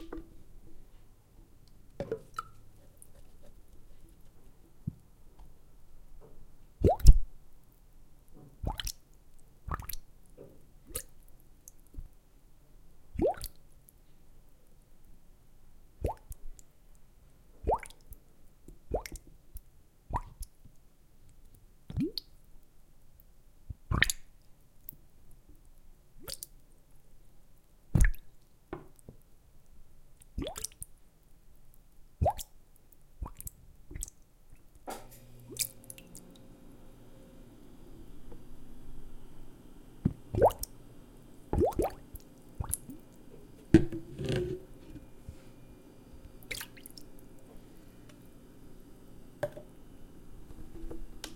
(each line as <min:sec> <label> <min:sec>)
0:06.8 bubbles 0:07.2
0:40.3 bubbles 0:40.7
0:41.5 bubbles 0:43.0
0:46.4 bubbles 0:47.2